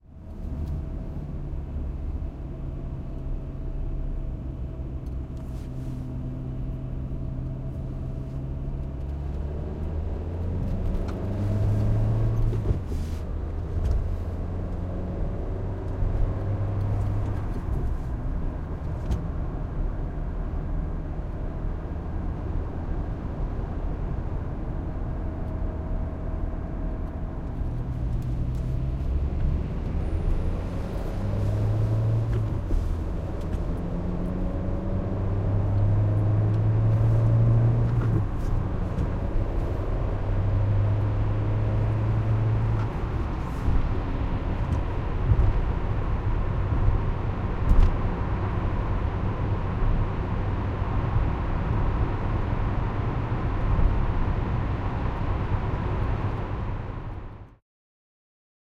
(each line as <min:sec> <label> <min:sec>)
0:07.7 car interior changing gears 0:19.5
0:25.4 car interior changing gears 0:49.9